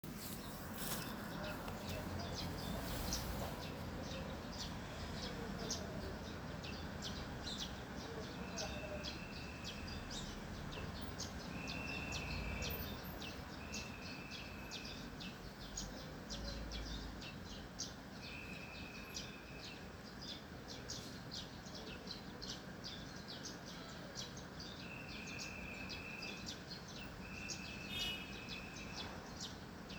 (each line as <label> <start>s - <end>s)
birds chirping in the trees 0.0s - 29.9s
Traffic 0.0s - 29.9s
traffic police directing traffic 0.1s - 6.3s